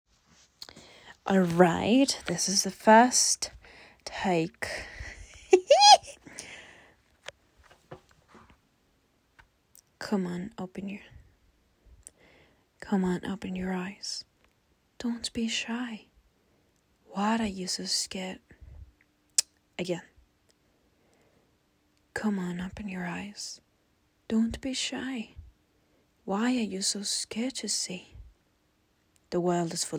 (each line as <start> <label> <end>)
0.6 Female voice poem 6.6
10.0 Female voice poem 11.2
12.8 Female voice poem 14.2
15.0 Female voice poem 16.1
17.1 Female voice poem 18.5
19.8 Female voice poem 20.1
22.2 Female voice poem 23.6
24.3 Female voice poem 25.4
26.2 Female voice poem 28.2
29.3 Female voice poem 29.9